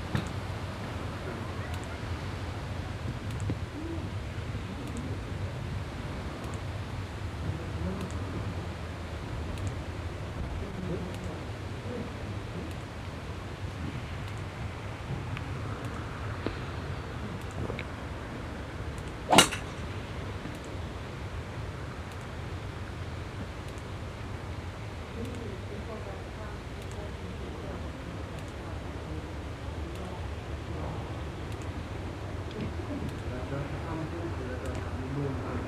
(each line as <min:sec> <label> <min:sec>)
0:12.4 Wind movements 0:23.6
0:19.3 swings with different bats 0:20.0